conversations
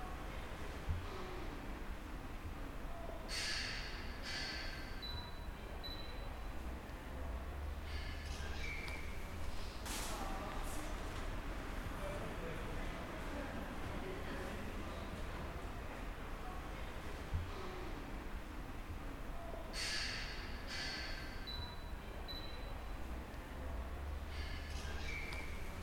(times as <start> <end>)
5.4 20.7